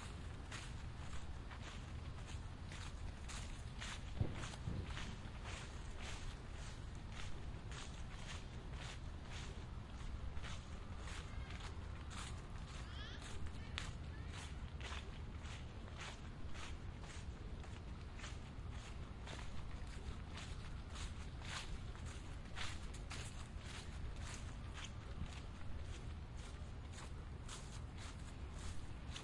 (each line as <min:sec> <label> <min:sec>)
0:00.0 walking in dry leaves 0:29.2